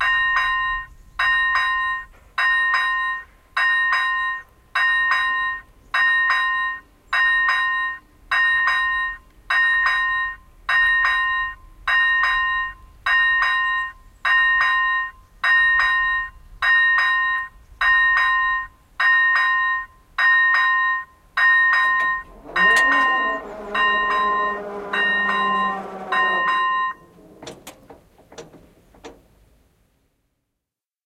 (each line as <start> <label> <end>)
21.6 automatic railway gate, closing 29.5